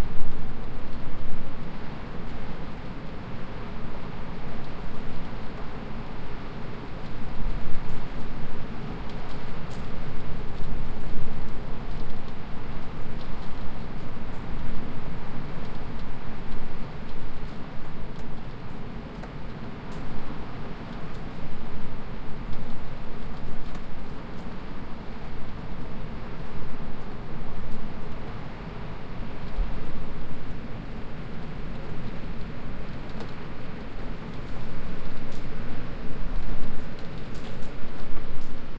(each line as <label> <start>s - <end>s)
wind 0.0s - 38.7s